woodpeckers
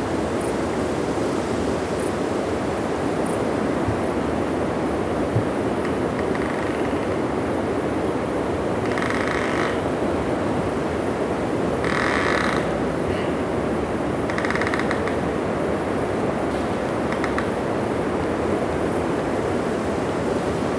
14.3 15.2

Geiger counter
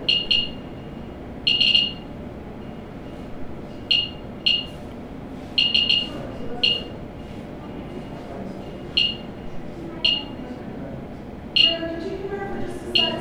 0.0 0.7, 1.5 2.1, 3.9 4.7, 5.6 7.0, 9.0 9.4

